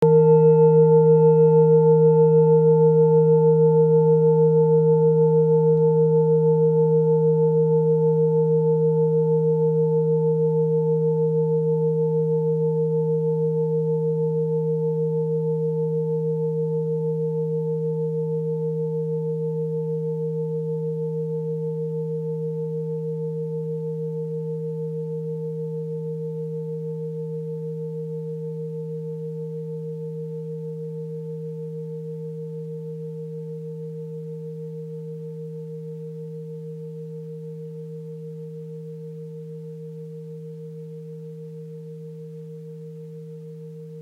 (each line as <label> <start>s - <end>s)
tibetan singing bowl 0.0s - 44.0s